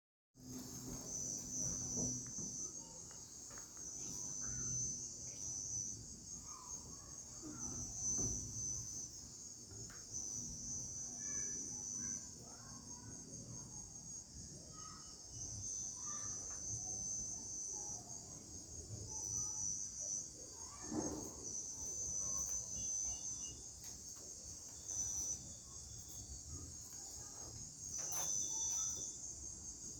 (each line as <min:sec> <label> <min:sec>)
0:00.4 crickets 0:29.9